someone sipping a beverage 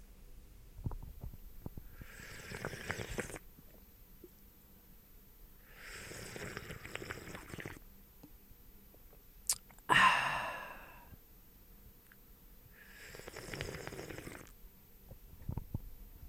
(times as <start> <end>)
2.0 3.5, 5.8 7.8, 9.5 11.1, 12.9 14.6